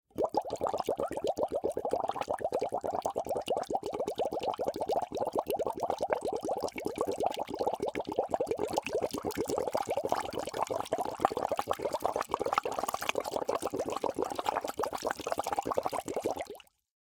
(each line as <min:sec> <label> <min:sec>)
0:07.6 Blowing through a straw into a bottle of water 0:16.6